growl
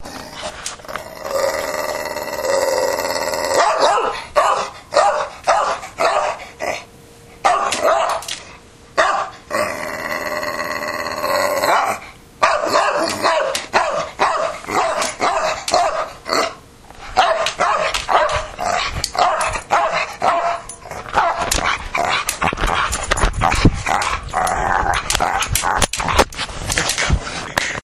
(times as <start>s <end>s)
0.0s 3.8s, 9.5s 12.1s, 18.5s 18.9s, 20.8s 25.8s